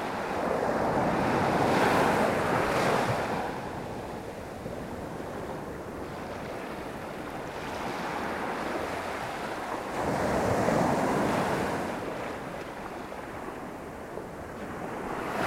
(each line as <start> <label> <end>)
0.0 waves 15.4